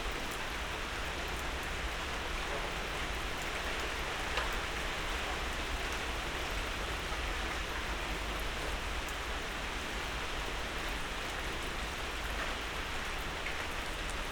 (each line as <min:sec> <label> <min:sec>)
0:00.0 rain 0:14.3